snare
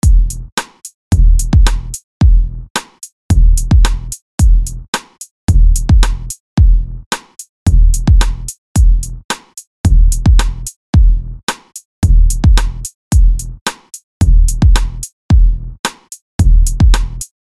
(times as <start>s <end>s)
0.6s 1.0s, 1.7s 2.0s, 2.8s 3.1s, 3.9s 4.1s, 5.0s 5.3s, 6.0s 6.4s, 7.1s 7.5s, 8.2s 8.5s, 9.3s 9.7s, 10.4s 10.7s, 11.5s 11.8s, 12.6s 12.9s, 13.7s 14.0s, 14.8s 15.1s, 15.8s 16.2s, 16.9s 17.3s